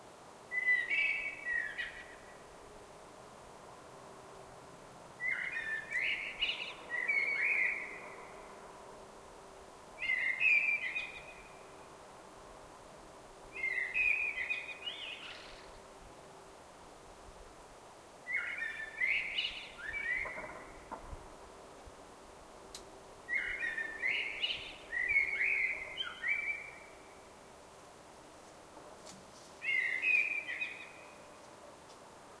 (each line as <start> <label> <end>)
0.5 blackbird singing 2.4
5.2 blackbird singing 8.3
10.0 blackbird singing 11.7
13.6 blackbird singing 15.8
18.3 blackbird singing 20.9
23.3 blackbird singing 27.3
29.6 blackbird singing 31.3